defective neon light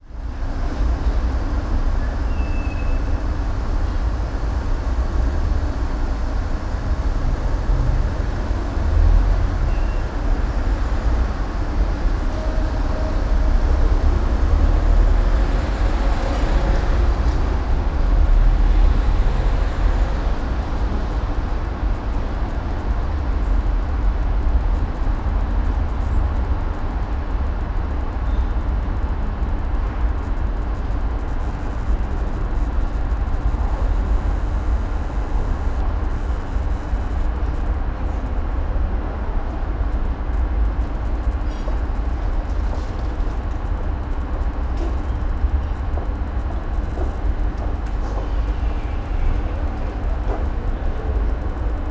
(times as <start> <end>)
1.4 37.9